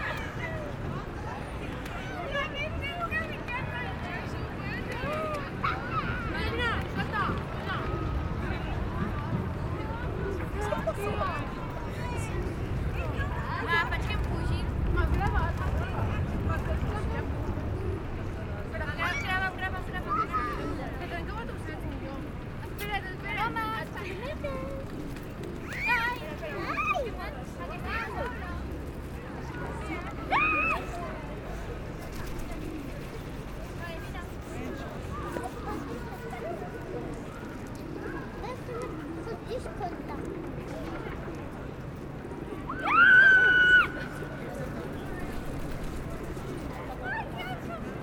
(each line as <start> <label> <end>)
0.0 Tourists 48.0
42.7 teenagers shouting 44.2